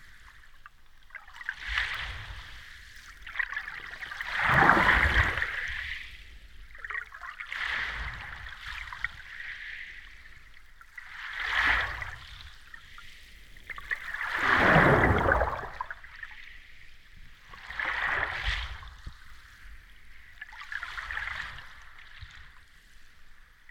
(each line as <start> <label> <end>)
4.2 waves breaking on beach 6.1
14.1 waves breaking on beach 15.8